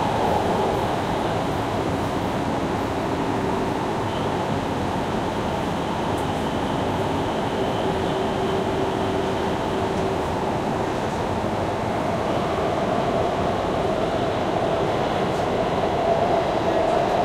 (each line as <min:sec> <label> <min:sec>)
0:00.0 MRT train 0:17.2